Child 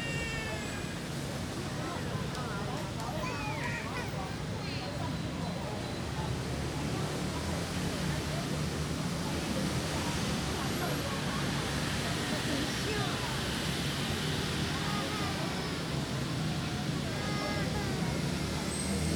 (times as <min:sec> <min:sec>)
0:14.5 0:19.0